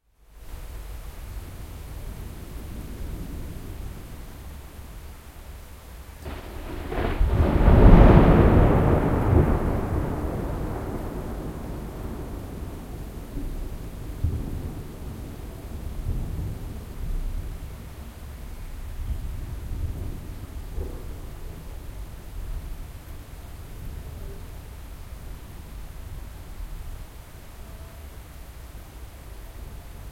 severe rain is falling 0.0 - 30.1
thunder strikes and rolls 6.2 - 17.6
thunder strikes and rolls 19.4 - 22.8

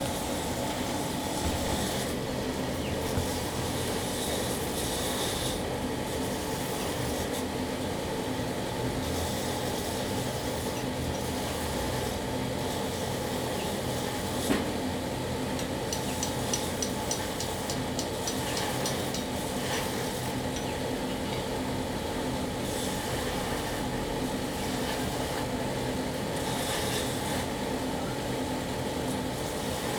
Furnace noise 0.0 - 29.9

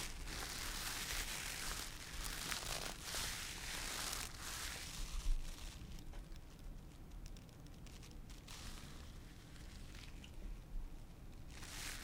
Rope Sound 0.0 - 6.0

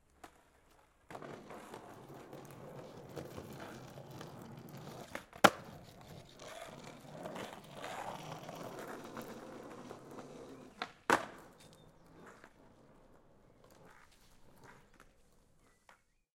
Skate pass on road jump 1 0.2 - 15.4

